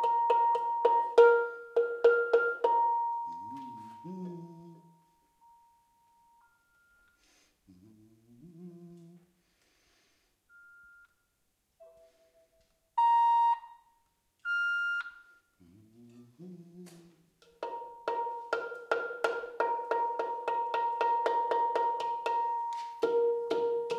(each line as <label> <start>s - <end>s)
craftsman play a little 3.3s - 5.1s